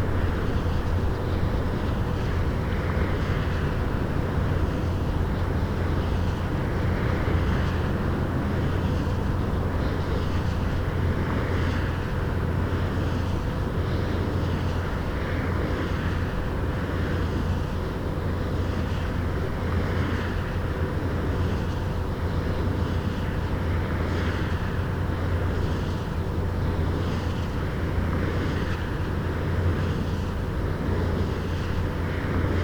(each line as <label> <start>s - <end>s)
wind turbine 0.0s - 32.6s